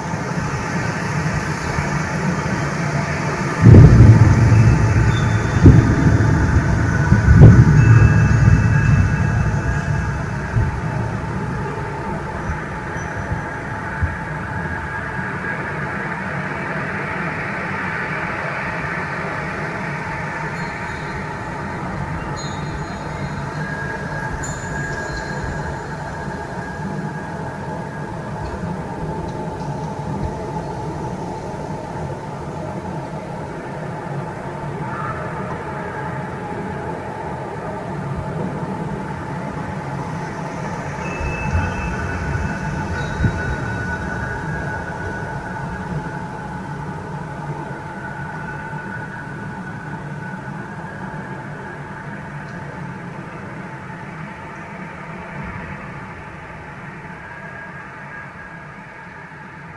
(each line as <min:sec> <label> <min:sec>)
0:00.0 Wind 0:59.7
0:07.0 windchimes 0:13.4
0:20.4 windchimes 0:27.4
0:40.3 windchimes 0:46.6